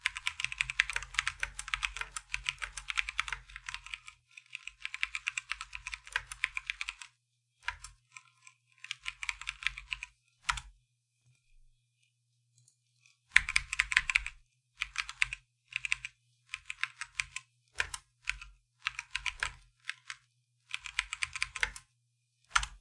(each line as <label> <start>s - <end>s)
Typing Sounds 0.0s - 7.0s
Typing Sounds 16.6s - 21.8s